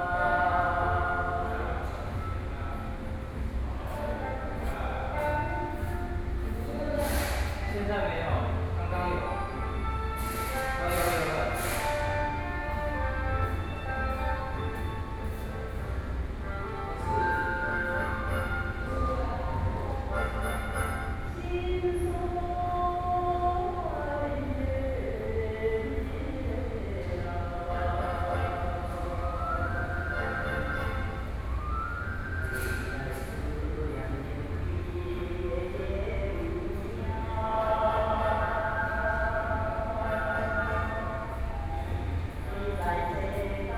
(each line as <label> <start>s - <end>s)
Artists are repairing his artworks 1.7s - 21.4s
Workers are repairing the door 10.1s - 13.5s
Artists are repairing his artworks 32.3s - 39.3s